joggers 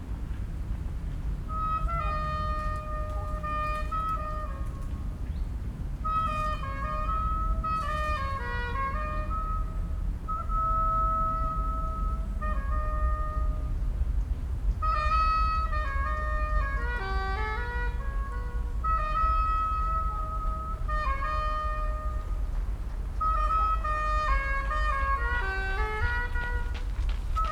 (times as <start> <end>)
24.5 27.5